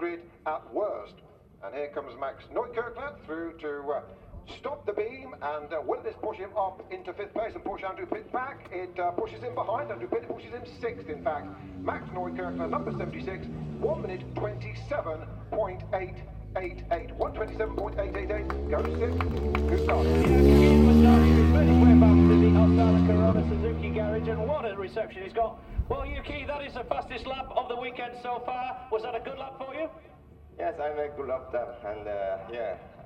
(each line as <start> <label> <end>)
0.0 commentary 33.0
2.3 world superbikes 33.0